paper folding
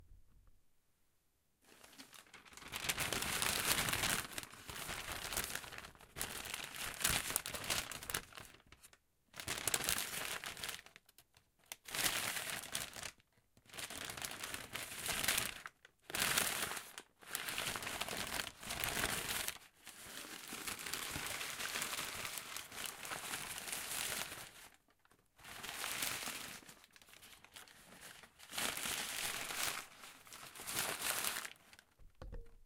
0:01.7 0:06.6

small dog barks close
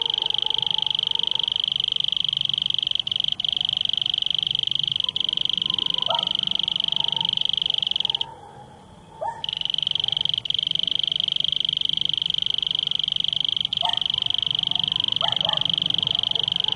0:05.0 0:07.3

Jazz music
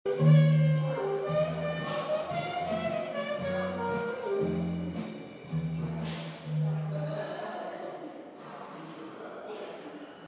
0:00.1 0:07.3

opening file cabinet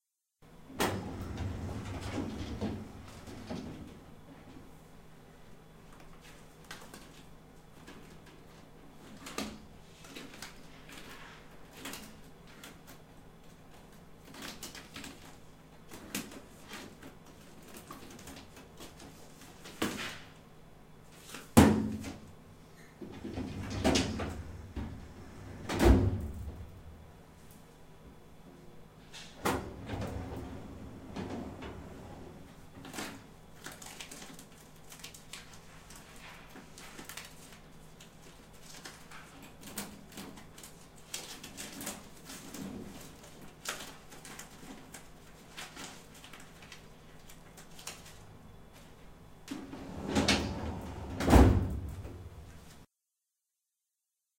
0:00.7 0:04.5, 0:21.4 0:27.1, 0:29.0 0:33.3, 0:49.4 0:52.6

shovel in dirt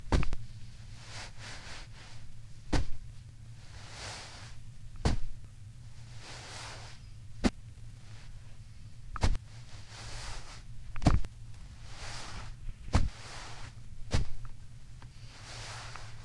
0:12.0 0:14.4

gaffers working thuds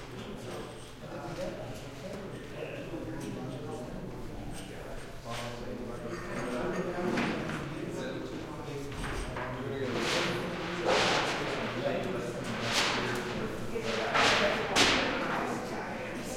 0:08.9 0:15.4

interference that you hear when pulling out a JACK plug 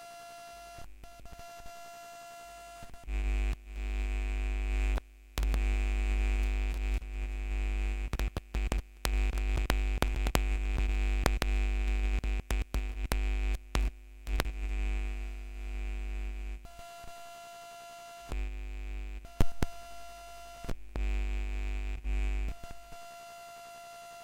0:04.9 0:07.0, 0:08.1 0:14.7, 0:19.3 0:21.1

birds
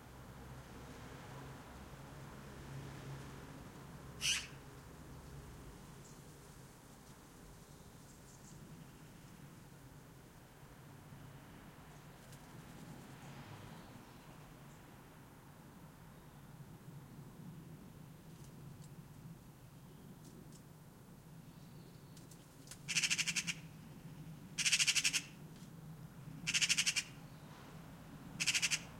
0:04.2 0:06.3, 0:21.4 0:25.4, 0:26.3 0:28.9

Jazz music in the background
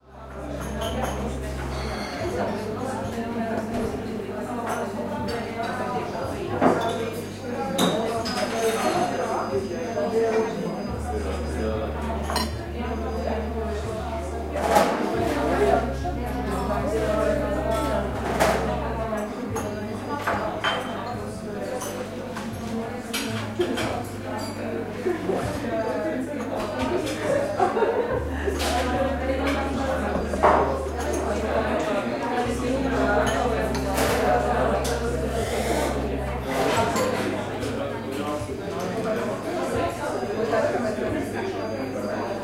0:11.2 0:40.0

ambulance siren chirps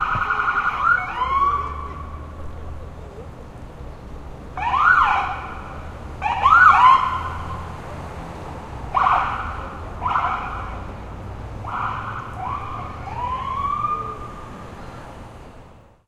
0:00.0 0:02.4, 0:04.6 0:07.7, 0:08.9 0:10.9, 0:11.6 0:14.6

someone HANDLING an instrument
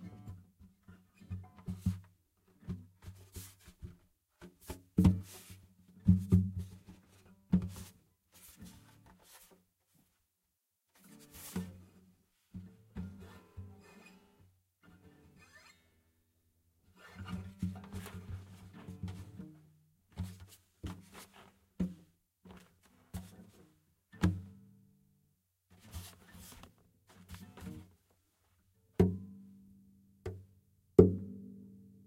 0:01.2 0:10.3, 0:10.9 0:15.9, 0:16.9 0:24.7, 0:25.7 0:29.2

